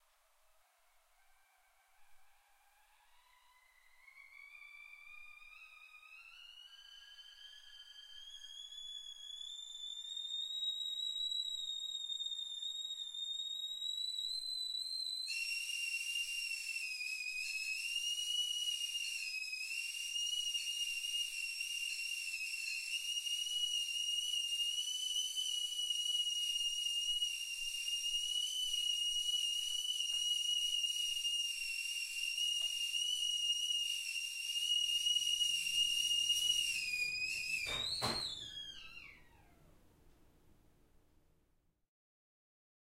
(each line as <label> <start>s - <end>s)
tea kettle whistling 0.7s - 39.8s